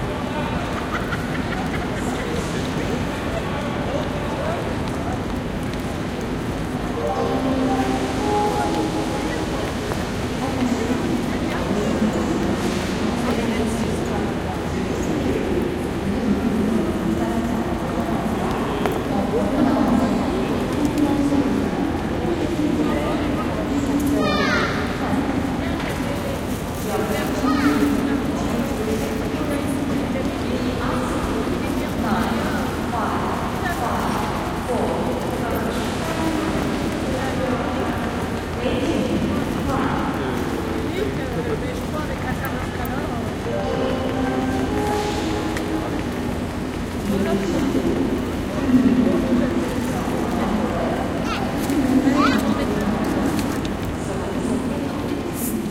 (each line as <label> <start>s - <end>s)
People passing-by 0.0s - 55.7s
departure/ arrival/ delay annoucements 6.4s - 12.6s
departure/ arrival/ delay annoucements 42.2s - 51.2s